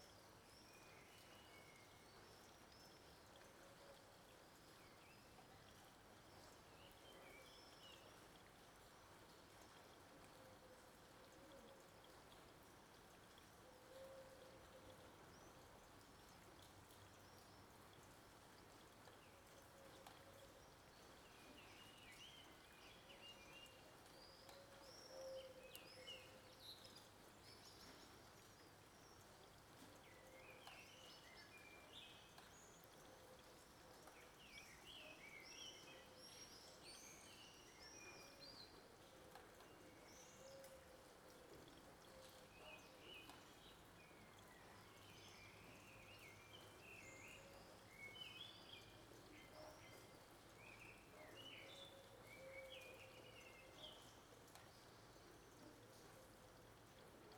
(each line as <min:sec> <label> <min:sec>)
0:00.0 rain 0:57.3